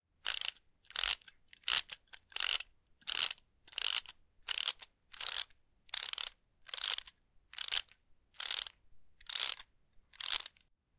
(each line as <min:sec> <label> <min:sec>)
0:00.2 ratchet screwdriver being twisted without the screw attached 0:10.7